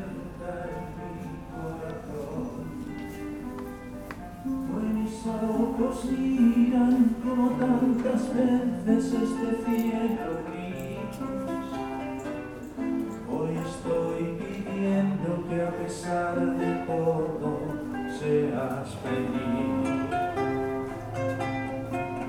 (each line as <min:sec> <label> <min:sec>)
0:00.0 chanteur dans couloir de métro 0:22.2